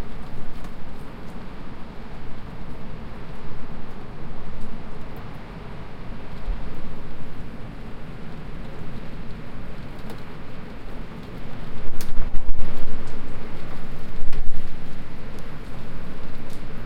0.0s wind 16.8s

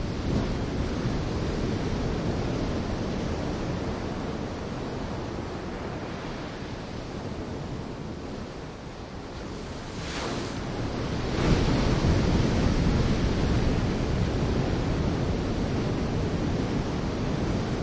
0.0s waves on sand 17.8s

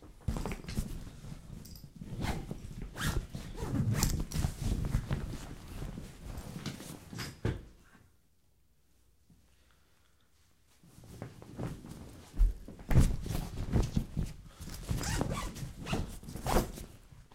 1.6s make the suitcase 5.5s
12.9s make the suitcase 16.9s

